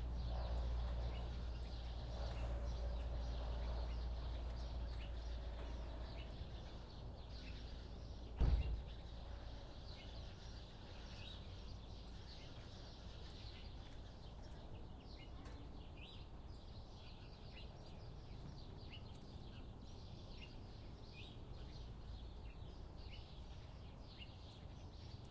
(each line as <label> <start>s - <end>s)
birds in trees 0.0s - 25.3s
plane overhead 0.0s - 25.3s